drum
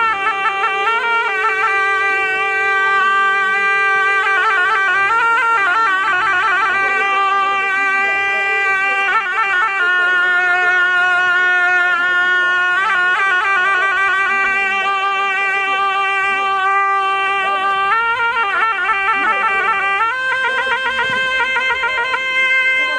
0:20.4 0:22.2

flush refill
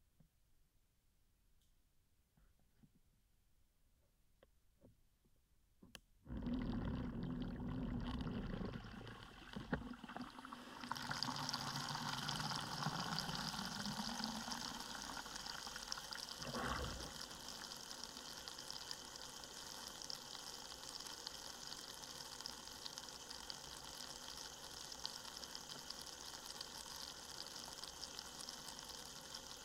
0:06.3 0:29.6

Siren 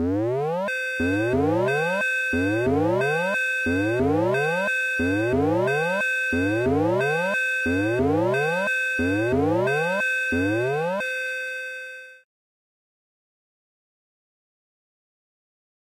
0:00.0 0:11.1

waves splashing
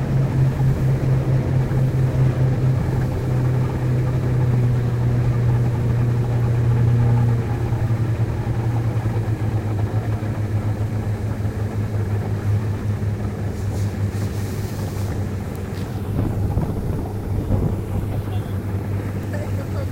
0:13.4 0:19.9

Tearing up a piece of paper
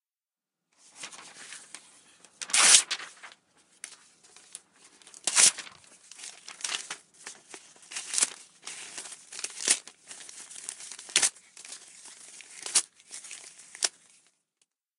0:01.0 0:01.5, 0:02.4 0:03.3, 0:05.0 0:14.0

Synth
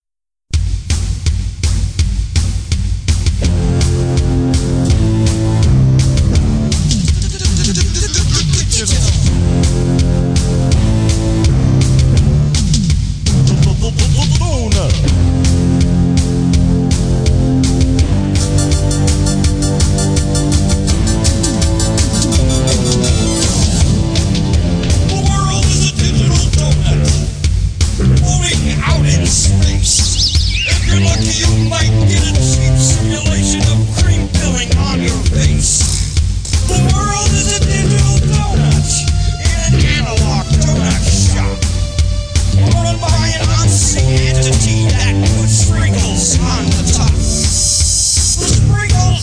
0:15.0 0:27.4, 0:28.0 0:35.5

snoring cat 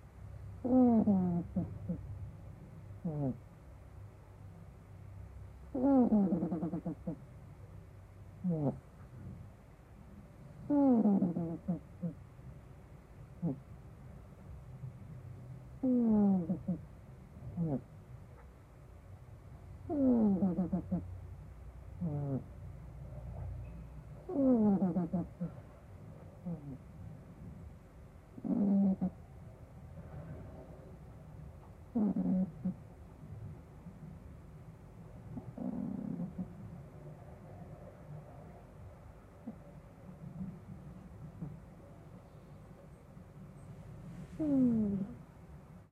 0:00.6 0:02.0, 0:03.0 0:03.4, 0:05.7 0:07.2, 0:08.4 0:08.8, 0:10.6 0:12.2, 0:13.4 0:13.7, 0:15.8 0:16.9, 0:17.5 0:17.9, 0:19.9 0:21.1, 0:22.0 0:22.5, 0:24.3 0:25.7, 0:26.4 0:26.8, 0:28.4 0:29.2, 0:31.9 0:32.8, 0:35.4 0:36.7, 0:40.2 0:40.7, 0:44.2 0:45.2

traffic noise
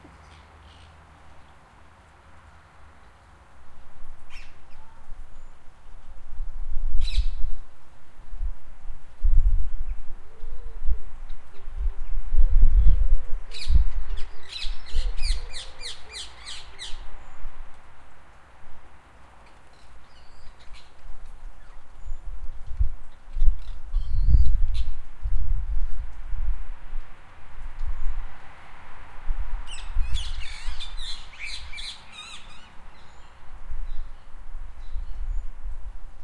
0:00.0 0:06.2, 0:14.8 0:21.9, 0:26.0 0:34.8

